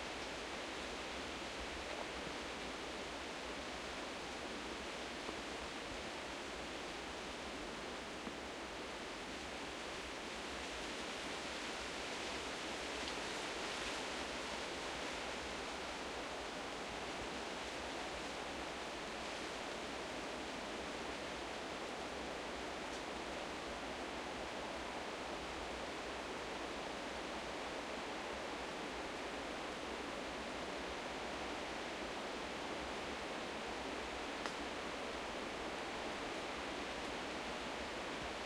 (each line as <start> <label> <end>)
0.0 wind forest through trees 38.4